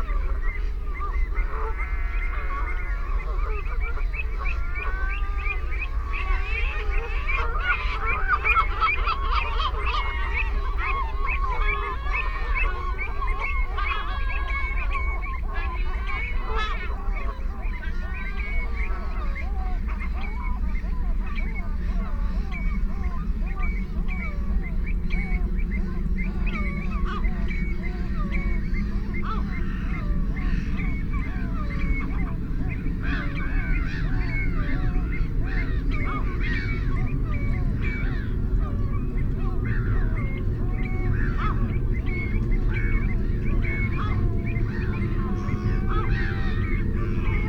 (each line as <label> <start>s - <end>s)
mallard 0.0s - 24.4s
black-headed gull 0.0s - 47.4s
canada goose 0.0s - 47.4s
herring gull 0.0s - 47.4s
planes 0.0s - 47.4s
ringed plover 0.0s - 47.4s